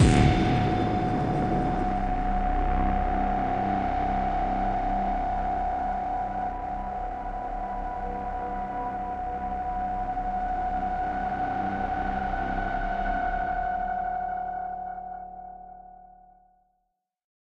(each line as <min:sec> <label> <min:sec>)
0:00.0 impact 0:03.0
0:00.0 Kickdrum Sample with distorsion 0:04.2